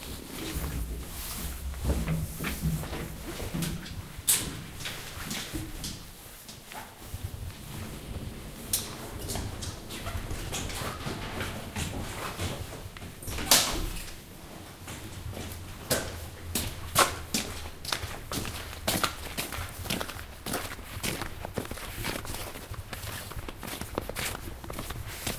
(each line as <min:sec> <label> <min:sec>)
0:07.1 elevator 0:14.2